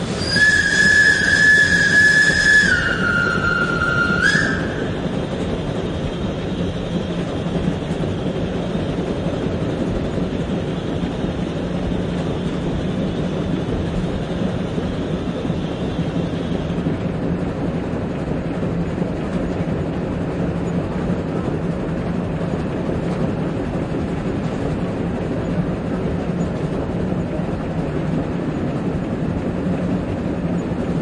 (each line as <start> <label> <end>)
0.0 Steam locomotive running 31.0
0.2 Whistling 5.0